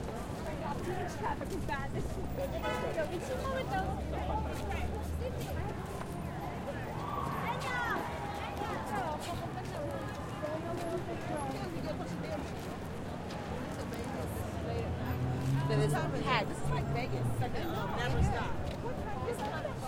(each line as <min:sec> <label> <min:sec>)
0:00.0 walk 0:15.9
0:00.0 crowd 0:19.8
0:00.0 traffic 0:19.8
0:16.5 walk 0:19.8